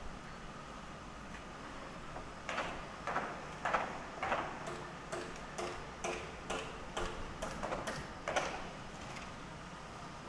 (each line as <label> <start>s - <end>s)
nail gun 2.5s - 8.7s